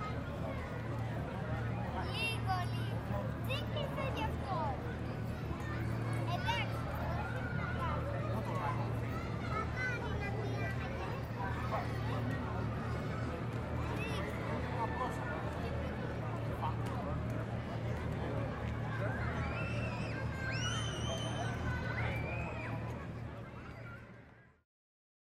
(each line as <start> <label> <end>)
0.0 people talking 24.2